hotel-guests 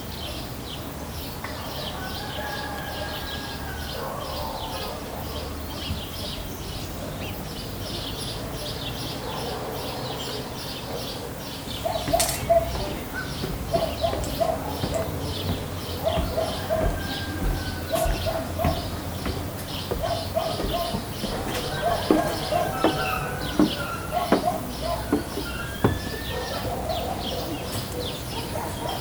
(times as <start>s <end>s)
9.8s 29.0s